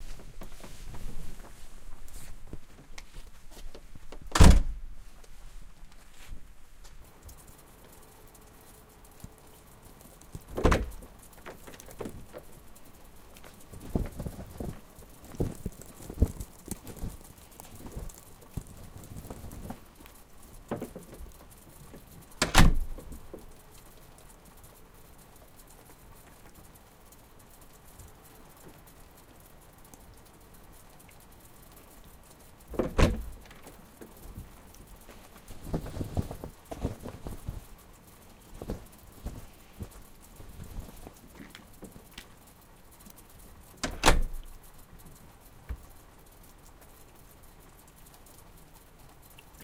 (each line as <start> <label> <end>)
0.0 snow 4.1
0.0 shaking of mats 6.5
4.3 Door slam 4.8
4.8 snow 47.9
10.6 Door slam 11.0
22.4 Door slam 23.0
32.7 Door slam 33.4
34.3 shaking of mats 41.4
43.8 Door slam 44.4